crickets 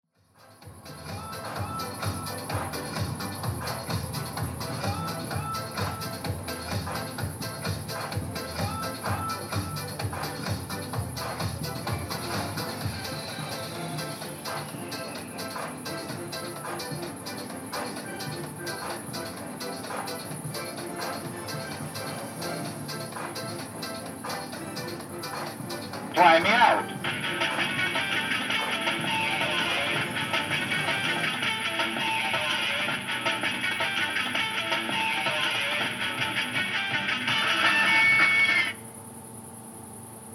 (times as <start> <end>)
35.7 40.3